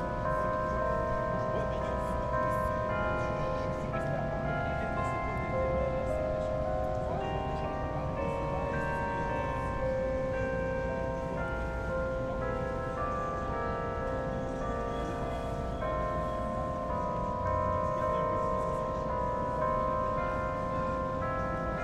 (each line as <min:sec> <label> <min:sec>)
0:00.0 Big Ben's carillon 0:21.8
0:00.0 music coming from the Sun life building 0:21.8